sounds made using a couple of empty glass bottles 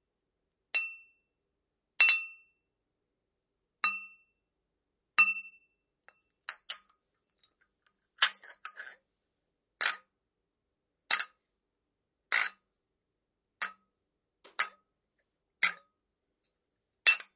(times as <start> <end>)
5.2 6.9, 12.3 12.6, 14.5 14.8, 17.0 17.3